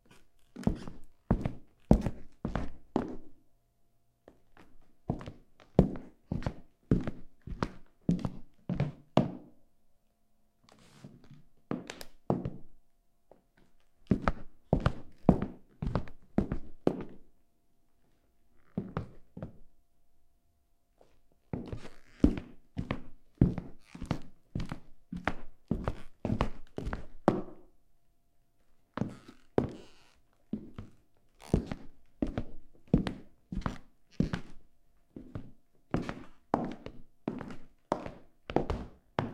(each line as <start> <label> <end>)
0.0 footsteps dress shoes 3.4
4.2 footsteps dress shoes 9.5
10.7 footsteps dress shoes 17.2
18.0 footsteps dress shoes 19.7
21.0 footsteps dress shoes 27.7
28.9 footsteps dress shoes 39.3